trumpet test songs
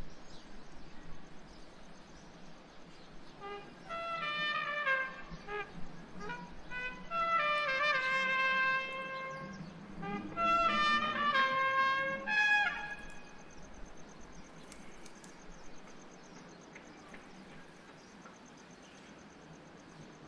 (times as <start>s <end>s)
3.4s 13.3s